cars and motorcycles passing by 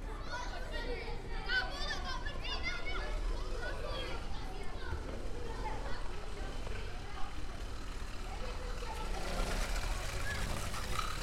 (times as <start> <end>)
2.9 11.2